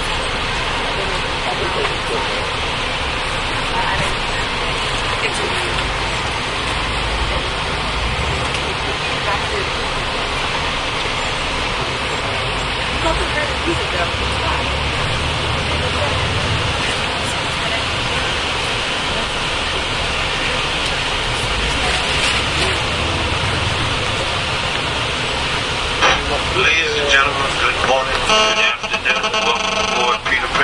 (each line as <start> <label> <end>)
0.0 announcement 30.6
0.0 bus 30.6